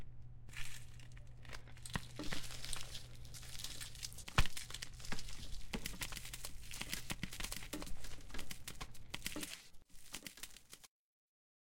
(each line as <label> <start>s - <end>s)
walking through leaves 0.5s - 10.9s